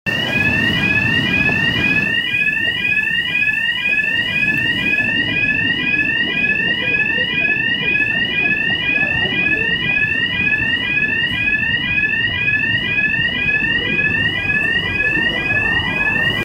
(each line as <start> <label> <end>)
0.1 High pitched burglar alarm going off 16.4